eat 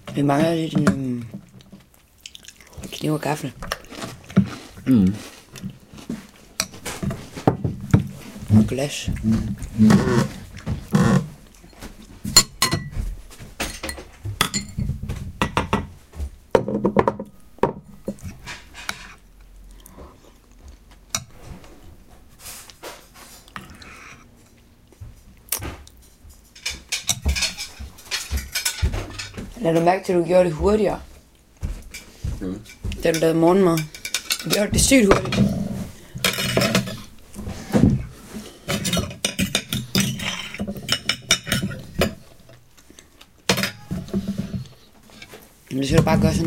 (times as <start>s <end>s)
1.2s 6.8s, 18.9s 21.3s, 22.5s 26.1s